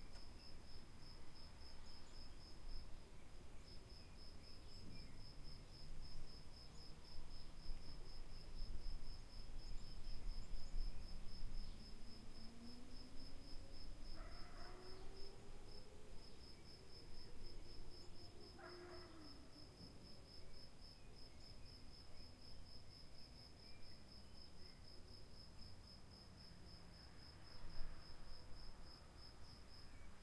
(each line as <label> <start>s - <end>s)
trees 0.0s - 30.2s
dog 14.2s - 14.9s
dog 18.6s - 19.2s